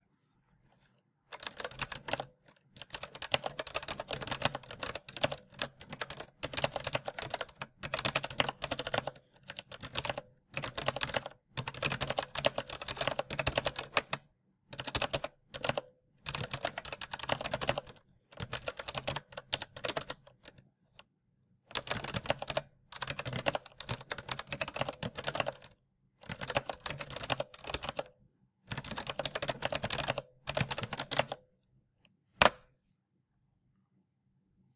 Typing 0:01.3 - 0:20.6
Typing 0:21.7 - 0:28.1
Typing 0:28.7 - 0:31.4

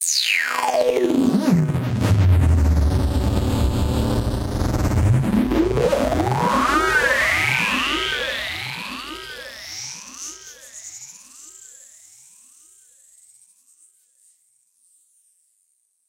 synth 0:00.7 - 0:10.2

